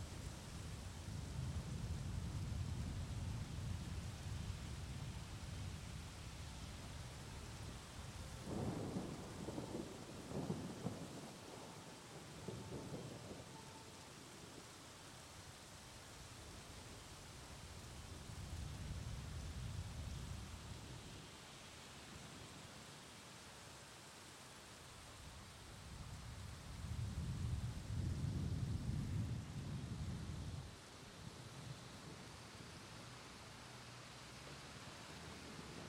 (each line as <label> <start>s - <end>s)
rain 0.0s - 35.8s
storm 8.2s - 14.0s